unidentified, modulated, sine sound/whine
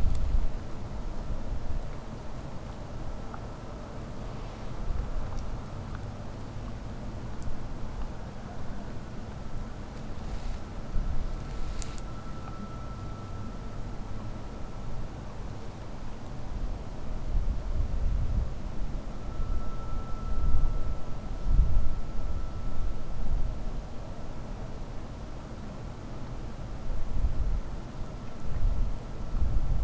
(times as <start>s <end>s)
8.1s 25.0s